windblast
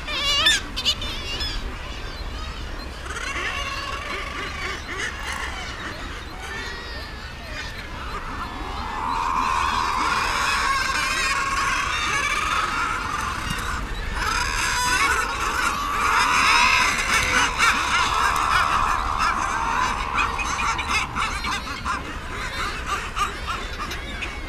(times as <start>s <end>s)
16.4s 23.1s